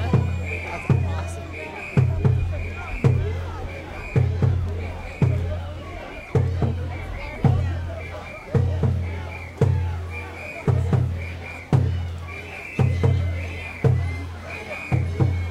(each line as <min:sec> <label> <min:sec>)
0:00.0 Omikoshi ceremony 0:15.5